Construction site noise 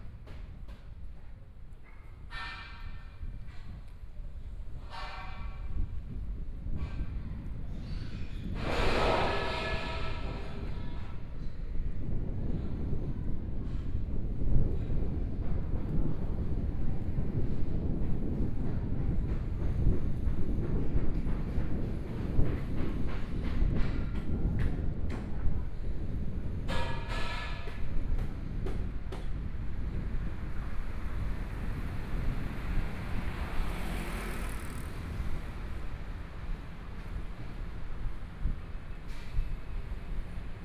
7.9 11.2

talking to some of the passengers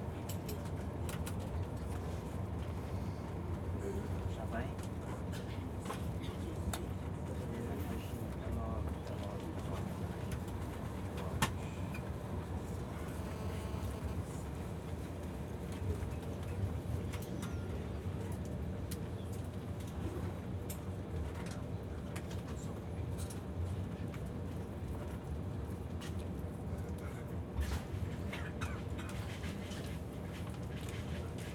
0.5 13.3

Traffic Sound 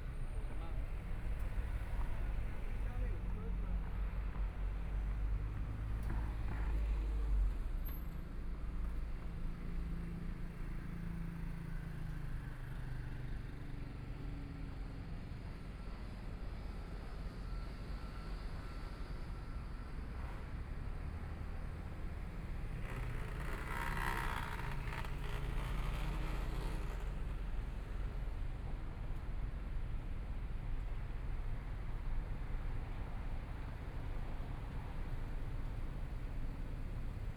19.6 37.3

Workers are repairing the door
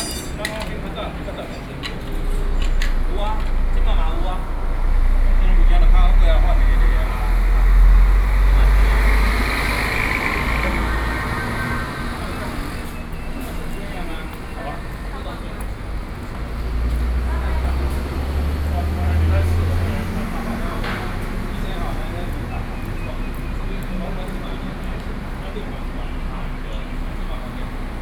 0.0 4.4, 11.1 26.0

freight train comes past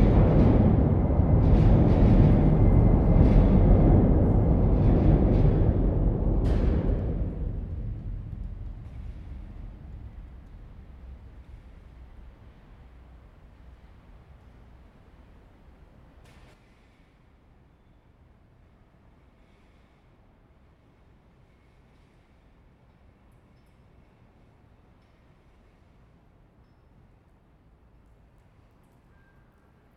0.0 15.4

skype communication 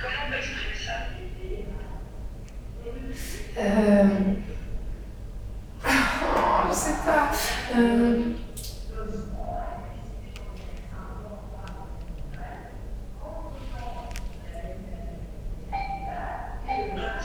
15.7 17.2

